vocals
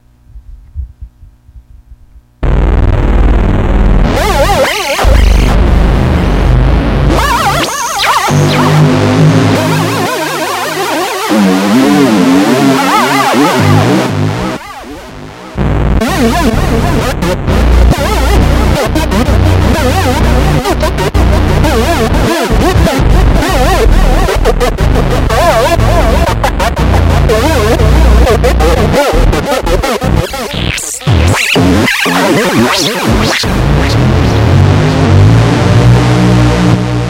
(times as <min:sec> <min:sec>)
0:16.0 0:34.4